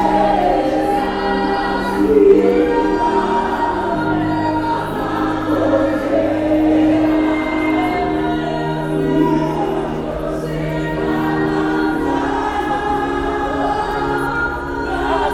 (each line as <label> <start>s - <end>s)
gospel sounds are filling the street 0.0s - 15.3s